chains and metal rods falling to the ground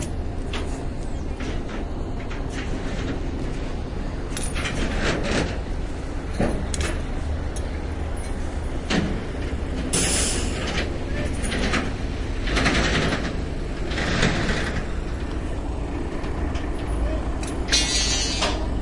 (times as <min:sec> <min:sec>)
0:17.7 0:18.6